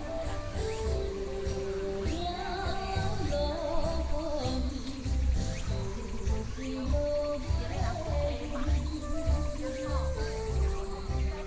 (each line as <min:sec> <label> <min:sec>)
0:00.0 birds song 0:11.4
0:00.0 walking in the Park 0:11.4